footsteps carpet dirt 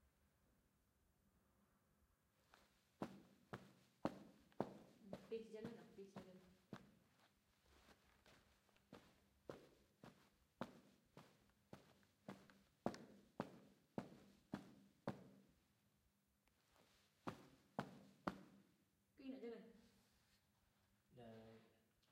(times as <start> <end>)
3.0 15.4